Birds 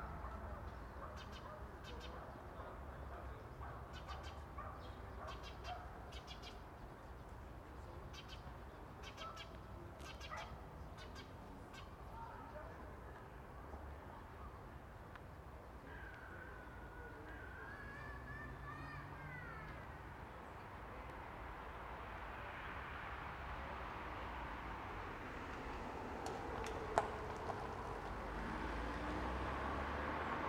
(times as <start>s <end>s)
0.0s 12.5s